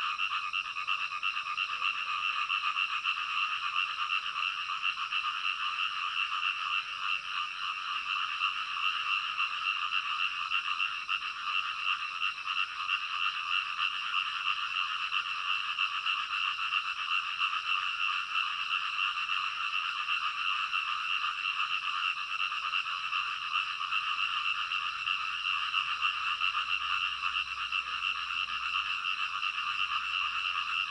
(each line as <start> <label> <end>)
0.0 Frogs chirping 30.9